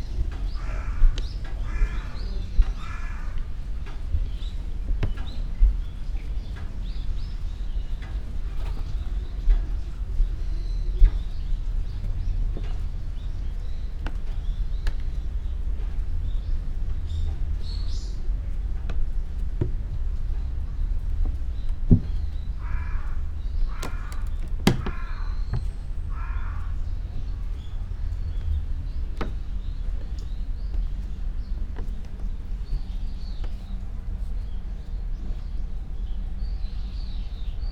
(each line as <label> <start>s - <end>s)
crow 0.5s - 3.5s
crow 22.6s - 26.9s